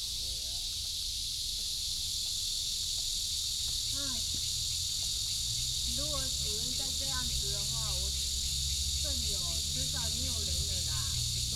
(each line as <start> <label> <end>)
0.0 Cicadas 11.5
2.5 birds sound 11.5
4.0 Traffic sound 11.5